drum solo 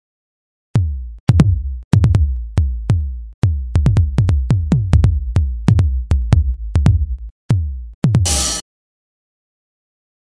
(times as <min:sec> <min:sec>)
0:08.1 0:08.6